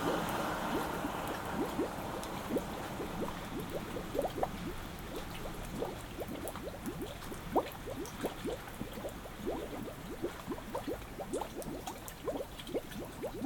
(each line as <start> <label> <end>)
0.0 gurgling waters in the grass 13.4